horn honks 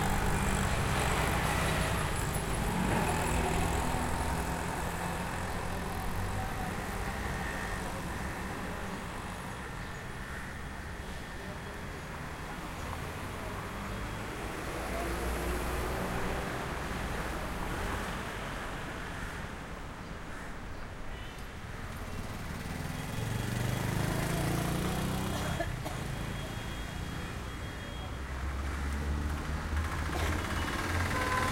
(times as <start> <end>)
30.2 31.5